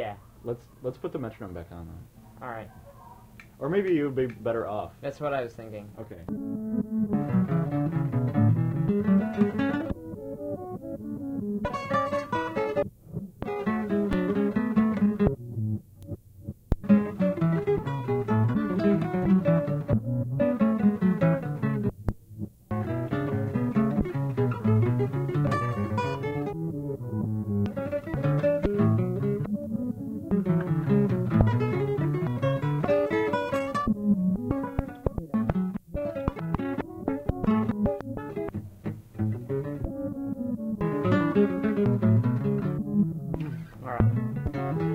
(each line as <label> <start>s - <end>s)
guitar recorded on tape, then cut and spliced 6.1s - 44.9s